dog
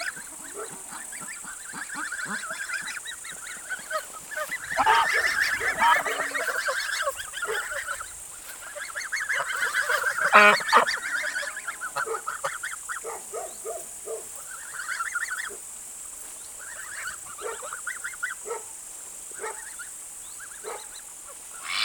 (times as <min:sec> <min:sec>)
0:00.5 0:00.8, 0:07.5 0:07.8, 0:12.0 0:12.3, 0:13.0 0:14.3, 0:17.4 0:17.7, 0:18.4 0:18.7, 0:19.4 0:19.6, 0:20.6 0:20.9